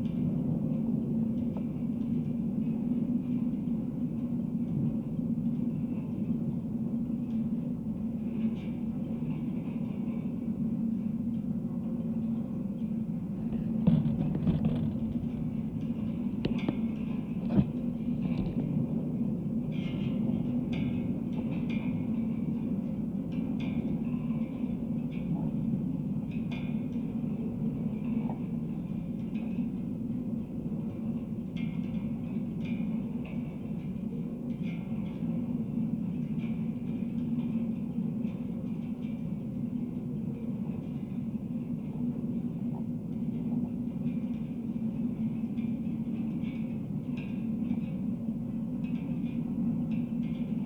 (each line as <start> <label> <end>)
13.0 wind in the wires 20.4